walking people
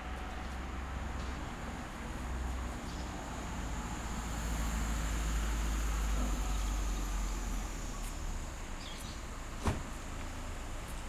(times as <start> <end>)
0.0 3.6, 7.9 11.0